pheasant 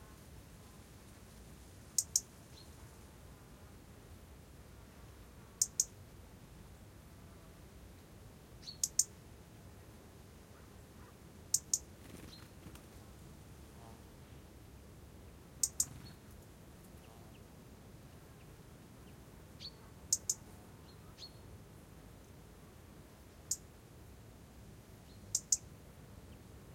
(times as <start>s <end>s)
10.5s 13.2s, 15.6s 17.5s, 25.1s 25.7s